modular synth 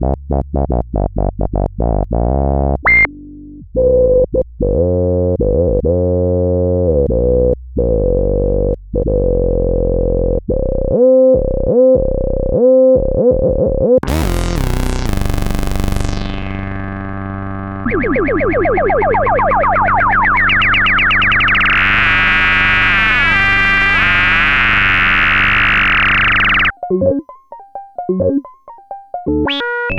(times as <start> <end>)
14.0 29.9